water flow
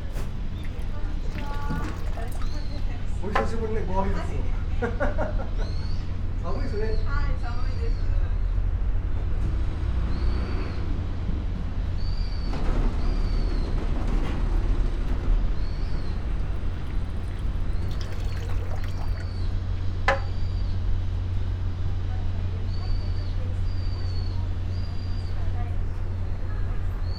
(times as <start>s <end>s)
0.0s 3.3s, 15.7s 20.0s